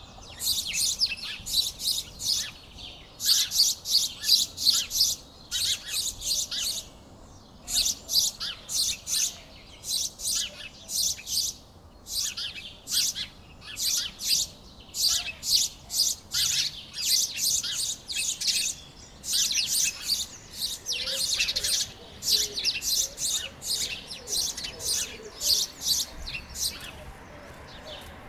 noisy sparrows are playing on a tree 0:00.0 - 0:28.2

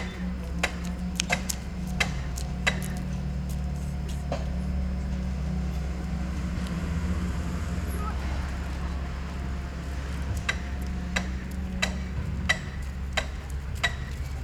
Building a pedestrian bridge 0:00.0 - 0:14.4
People 0:00.0 - 0:14.4
Street traffic 0:00.0 - 0:14.4

